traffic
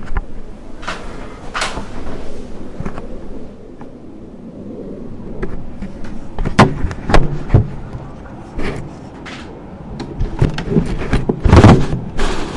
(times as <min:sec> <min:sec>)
0:03.8 0:11.5